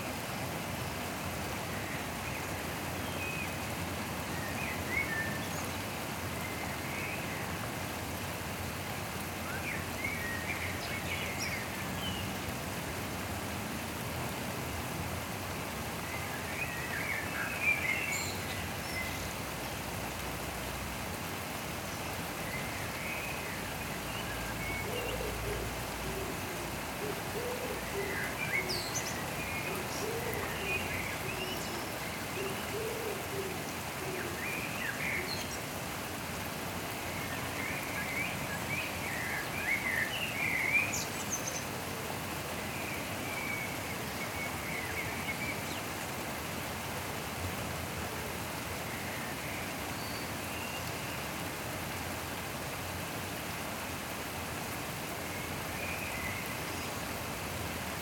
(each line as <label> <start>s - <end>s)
Blackbird in the rain 0.0s - 58.0s
rain 0.0s - 58.0s